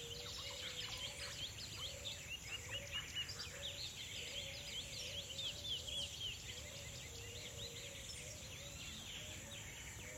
0.0s tropical birds 10.1s

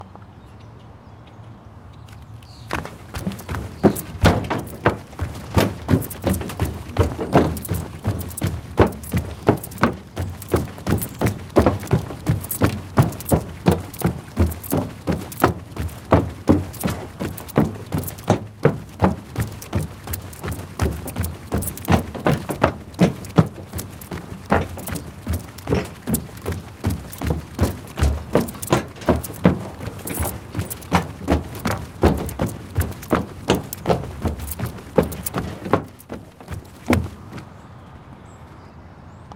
2.1s Running On Boardwalk 38.1s

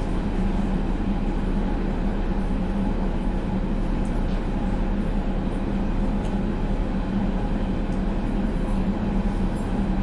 0.0s Underground train journey 10.0s

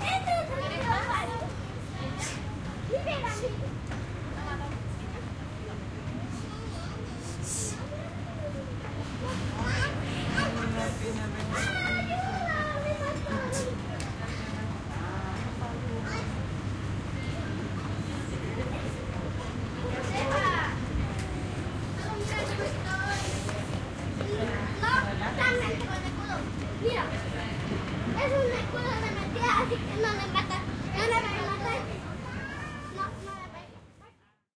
0.0s Children playing 34.4s

